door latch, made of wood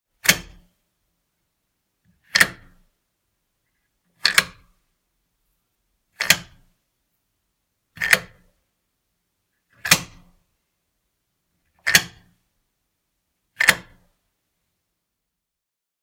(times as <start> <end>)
0.2 0.7, 2.2 2.8, 4.2 4.7, 8.0 8.5, 9.8 10.3, 11.8 12.4, 13.6 14.0